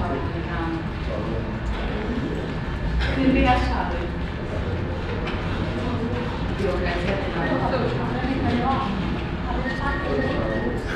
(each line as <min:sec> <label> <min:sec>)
0:00.0 electronic and mechanical sounds of different kind of bank machines 0:10.9
0:00.0 people talking in the waiting line 0:10.9
0:00.0 traffic noise coming in through the display window 0:10.9